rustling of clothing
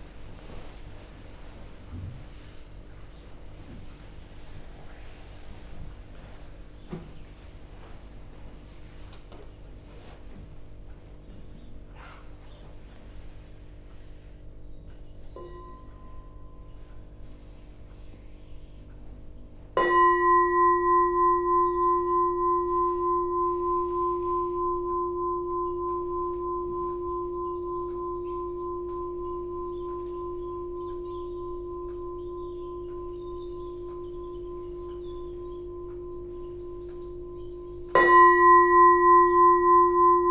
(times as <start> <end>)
0.0 2.6, 3.3 14.6